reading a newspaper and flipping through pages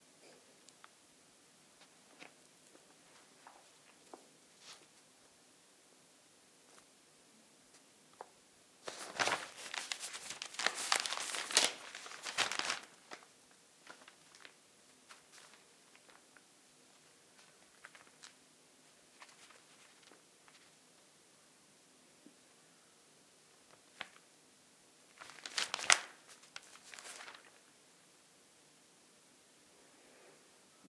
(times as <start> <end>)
1.7 5.3, 7.7 21.0, 23.4 24.4, 25.0 27.8